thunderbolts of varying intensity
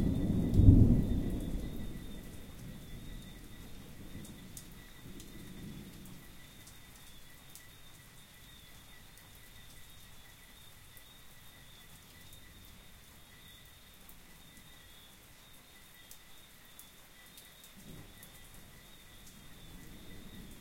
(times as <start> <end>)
0.0 6.2